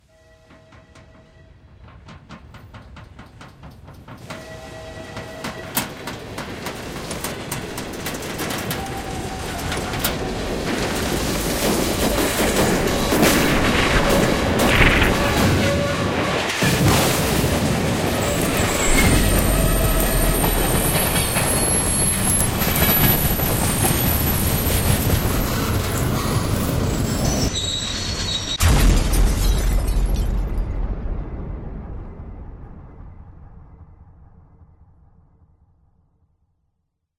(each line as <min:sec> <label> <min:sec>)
0:00.0 train passing by 0:28.3
0:00.6 Train Crash 0:34.4
0:18.0 screeching 0:28.6
0:28.6 explosion 0:35.5